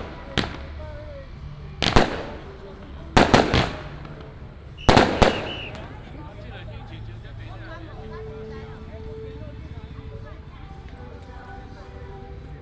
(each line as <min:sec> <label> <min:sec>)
0:00.0 fireworks 0:06.7
0:00.0 Firecrackers 0:10.2